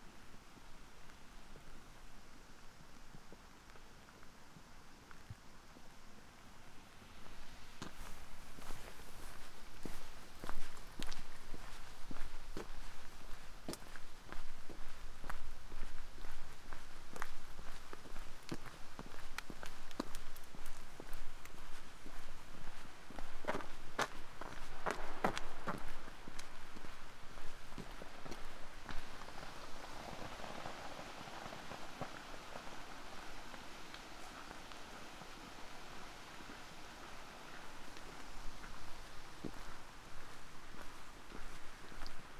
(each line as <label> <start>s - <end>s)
frozen rain 27.5s - 42.3s